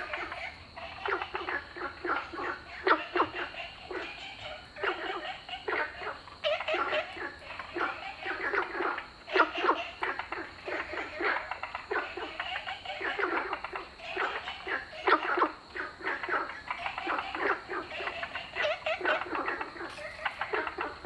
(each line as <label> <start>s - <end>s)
Frogs chirping 0.0s - 21.0s